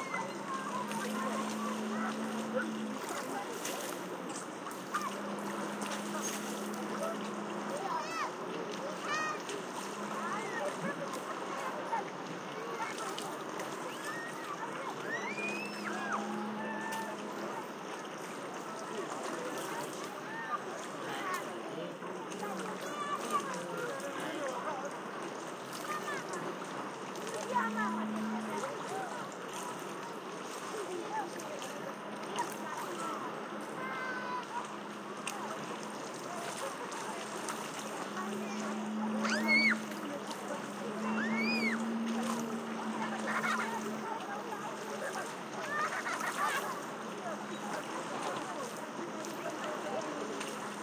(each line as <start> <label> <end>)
0.0 seashore 50.8